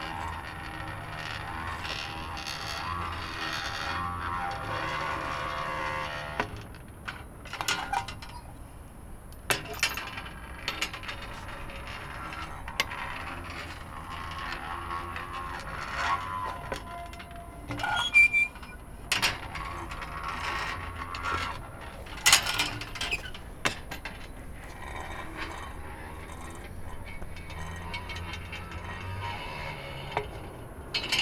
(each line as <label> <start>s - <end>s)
operating the handle of a rusty, manual water pump 0.0s - 31.2s